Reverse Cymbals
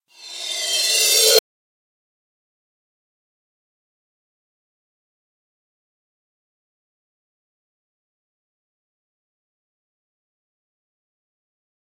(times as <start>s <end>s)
0.1s 1.4s